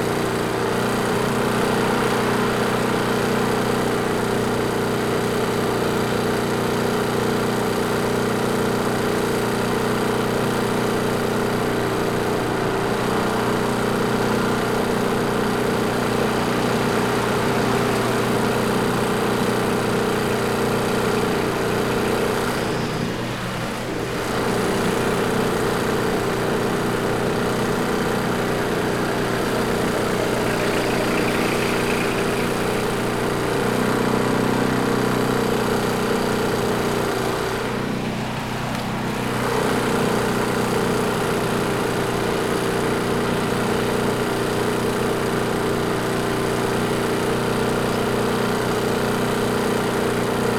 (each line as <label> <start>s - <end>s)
loud portable electric generator 0.0s - 50.5s
traffic sounds 10.4s - 43.2s